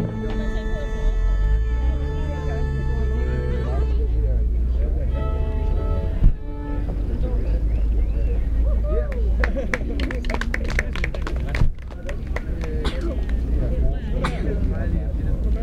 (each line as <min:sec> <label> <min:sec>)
0:00.0 chatter from bypassers 0:15.6
0:00.0 musicians walked around the market, while playing 0:15.6